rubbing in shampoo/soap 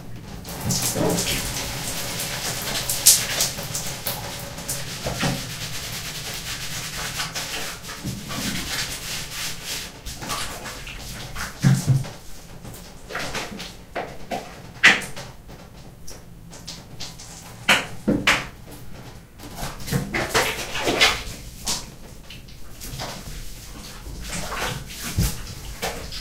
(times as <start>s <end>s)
0.3s 13.7s, 19.7s 26.2s